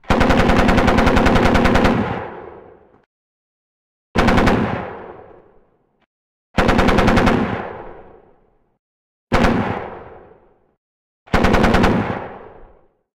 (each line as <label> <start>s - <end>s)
Heavy machine gun 0.0s - 2.6s
Heavy machine gun 4.2s - 5.3s
Heavy machine gun 6.6s - 8.0s
Heavy machine gun 11.3s - 12.6s